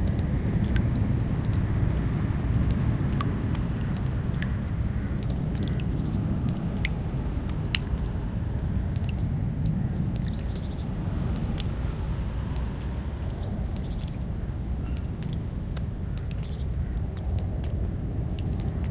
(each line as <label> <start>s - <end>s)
passing airplane 0.0s - 18.9s
Melting snow dripping from trees 0.0s - 18.9s
birds 3.5s - 17.8s